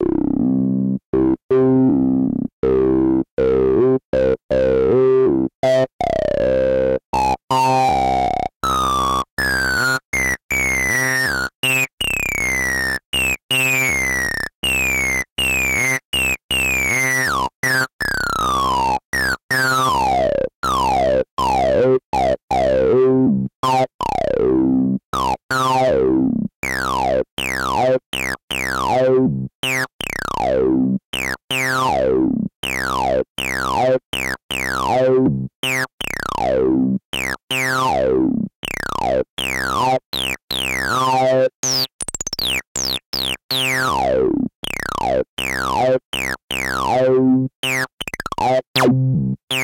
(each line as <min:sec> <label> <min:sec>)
0:00.0 bassline 0:49.6